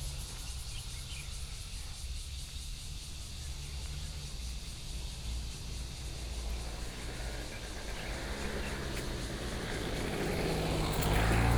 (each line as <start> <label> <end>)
0.0 Cicadas 11.5
2.8 Traffic 11.5
4.7 Trains traveling through 11.5
4.8 Birdsong 11.5